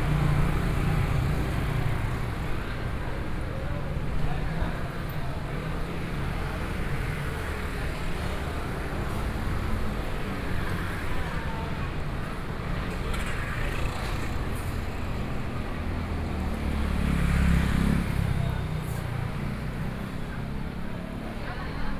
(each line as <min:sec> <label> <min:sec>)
0:00.0 Students gather at noon meal streets 0:21.9